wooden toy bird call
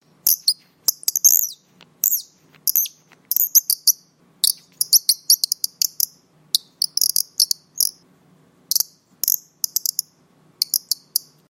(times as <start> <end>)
0.3 8.0